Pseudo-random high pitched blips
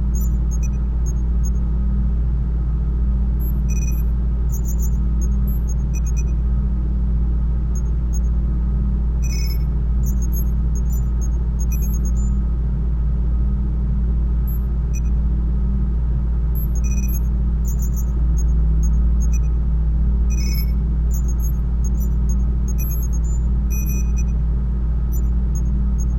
20.3 22.1

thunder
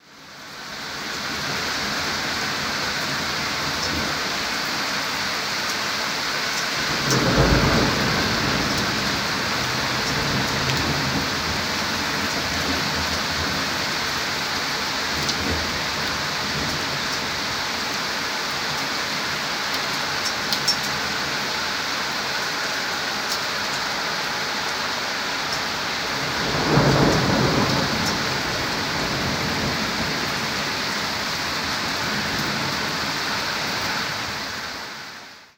6.9 11.7, 26.2 30.8

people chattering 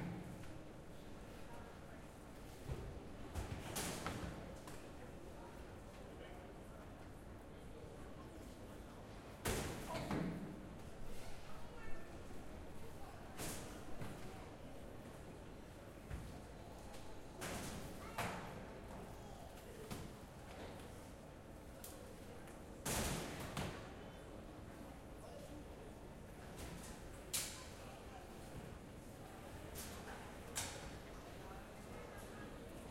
27.6 32.9

